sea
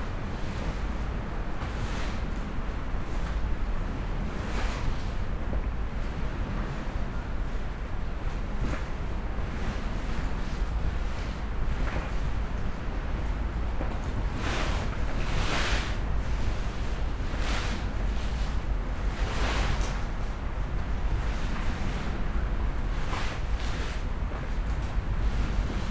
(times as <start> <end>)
8.2 25.9